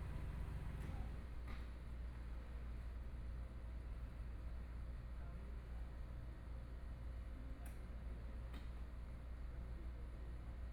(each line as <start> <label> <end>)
0.0 Traffic Sound 1.2